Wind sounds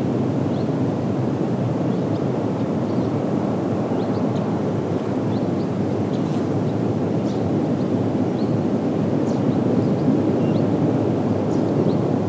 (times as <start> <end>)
10.9 12.2